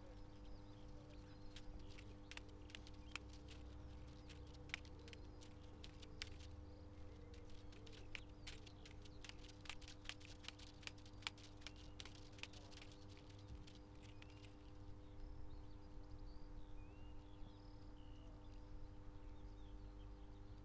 loose strp of plastic tape jigling in the air 7.3 - 14.6

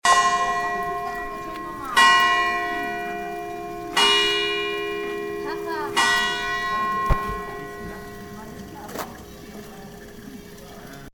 church clock bell 0.0 - 8.8

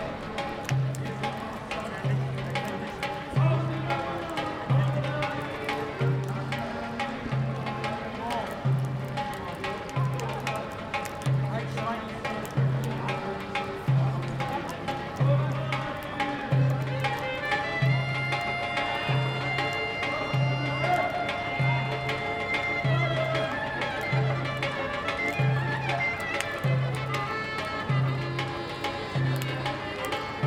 Turkish sounding buskers 0.0 - 30.4

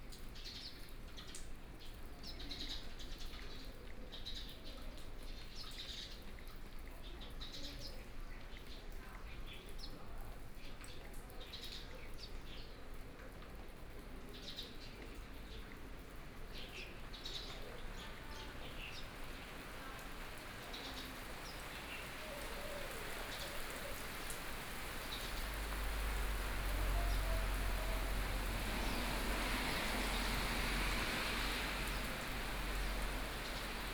Rainy weather 0.0 - 33.9
Traffic Sound 17.8 - 33.9

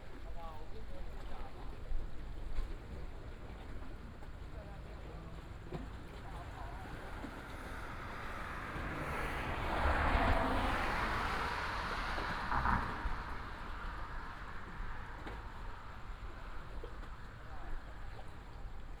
traffic sound 5.4 - 19.0

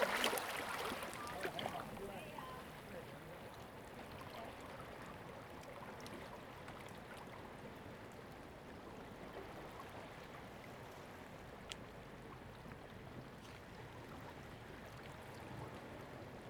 Sound tide 0.0 - 4.6

